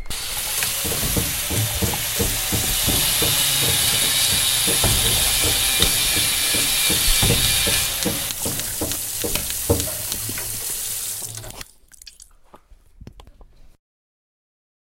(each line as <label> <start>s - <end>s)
drill 0.0s - 9.8s
water dripping 0.0s - 12.4s
bang 0.2s - 10.6s